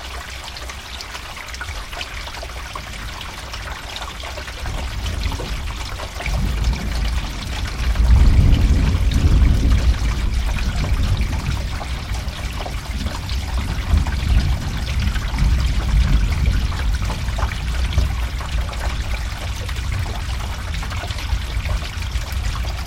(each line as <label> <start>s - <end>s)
rain water running in drain pipe 0.0s - 22.8s
thunder in background 4.8s - 18.9s